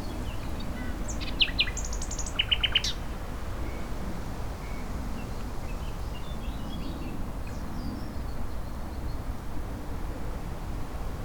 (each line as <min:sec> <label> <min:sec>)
0:00.0 Nightingale singing in undergrowth 0:03.0